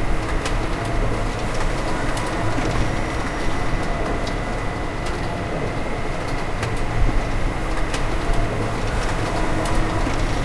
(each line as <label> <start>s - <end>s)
industrial mechanized factory 0.0s - 10.4s